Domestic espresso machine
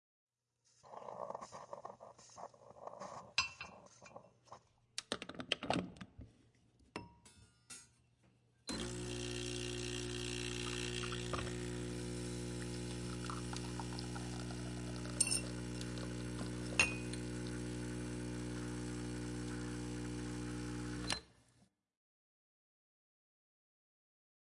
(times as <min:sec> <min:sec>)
0:08.7 0:21.3